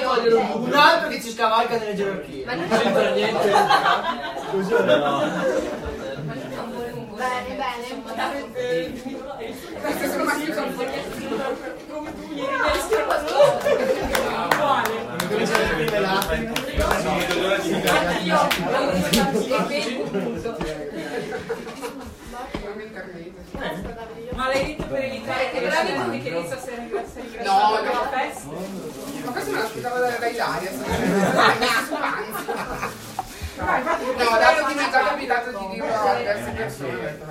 Crowd 0.0 - 37.3

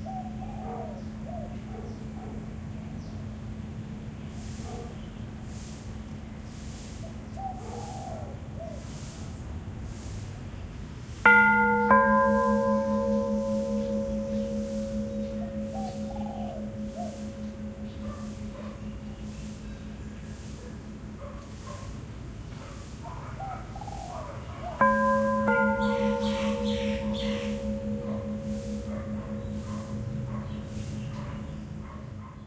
birds 0.0 - 2.2
monk sweeping the courtyard 4.3 - 23.1
temple bells 11.2 - 21.3
birds 23.3 - 32.4
temple bells 24.8 - 32.4

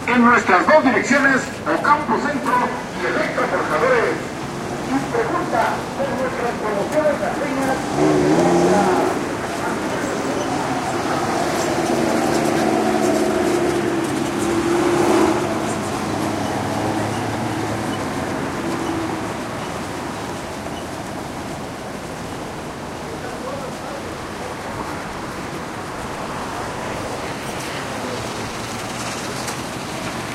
traffic noise 0.0 - 30.3
loudspeaker 0.0 - 4.3
loudspeaker 4.9 - 10.6

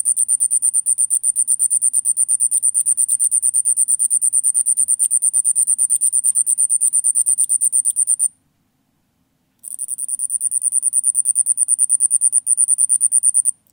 Night Cricket 0.0 - 8.4
Night Cricket 9.6 - 13.7

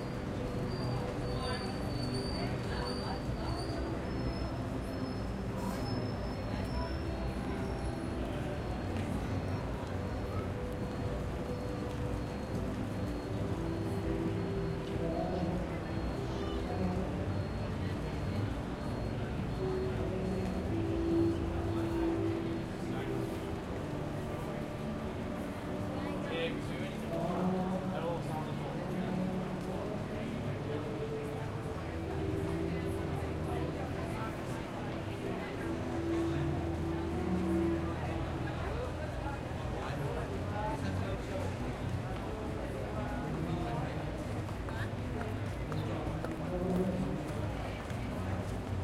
people 0.0 - 48.8

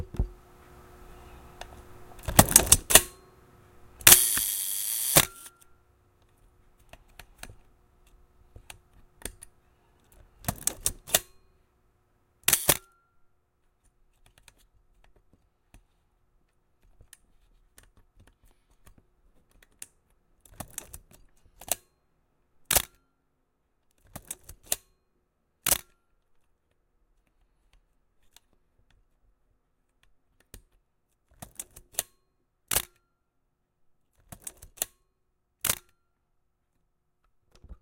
loading film 4.0 - 5.5
shutter click at various speeds 4.0 - 5.6
loading film 12.5 - 12.8
shutter click at various speeds 12.5 - 12.9

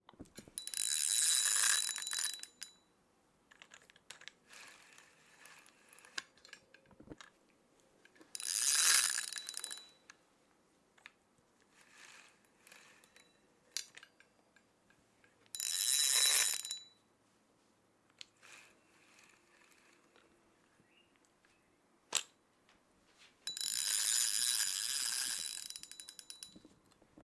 fishing reel being reeled in 0.6 - 2.4
fishing reel being reeled in 4.5 - 6.2
break giving resistance when the line is tugged on 8.1 - 9.8
fishing reel being reeled in 8.4 - 9.8
fishing reel being reeled in 11.8 - 13.2
fishing reel being reeled in 15.6 - 16.8
fishing reel being reeled in 18.4 - 20.2
fishing reel being reeled in 23.5 - 26.4

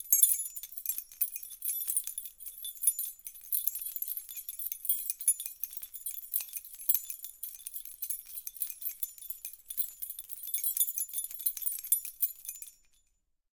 chimes 0.0 - 13.2

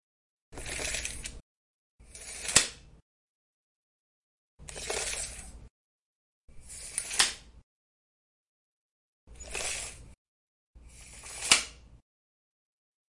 tape measure being opened and retracted 0.6 - 1.4
tape measure being opened and retracted 2.0 - 2.9
tape measure being opened and retracted 4.6 - 5.6
tape measure being opened and retracted 6.6 - 7.6
tape measure being opened and retracted 9.3 - 10.2
tape measure being opened and retracted 10.9 - 11.9

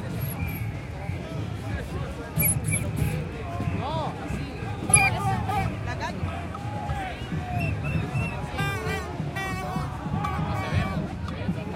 crowd 0.0 - 11.7
trompetas 2.4 - 3.3
trompetas 6.5 - 11.6

